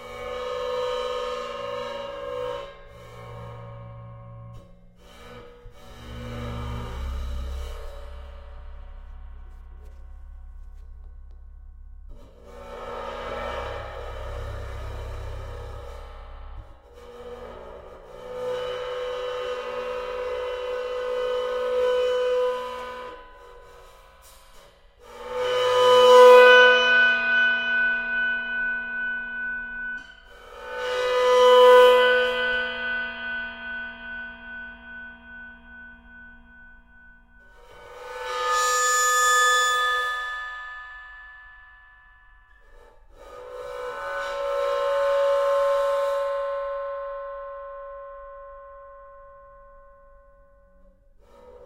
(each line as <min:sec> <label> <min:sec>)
0:02.6 bowed Crash-Cymbal 0:18.4